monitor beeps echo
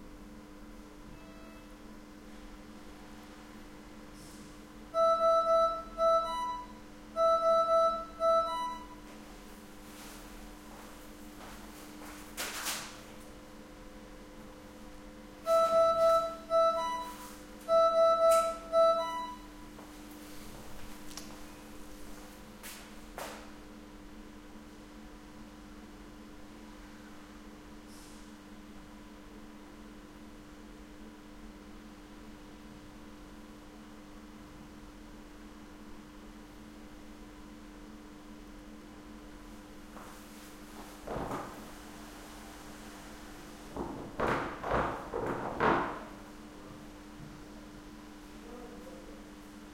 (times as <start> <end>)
5.0 9.0, 15.5 19.5